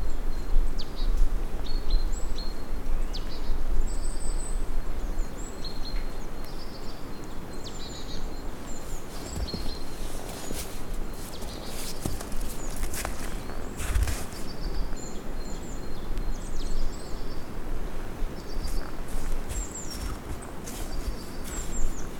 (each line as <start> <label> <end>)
0.0 birds singing 17.6
7.6 footsteps in the snow 15.2
17.9 footsteps in the snow 22.1
18.2 birds singing 22.1